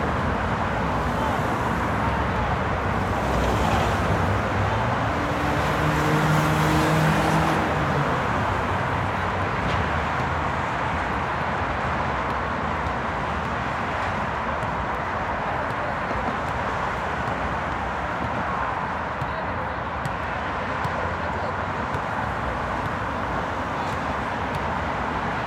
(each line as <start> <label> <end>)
0.0 sounds from the basketball park 25.4
0.0 traffic 25.4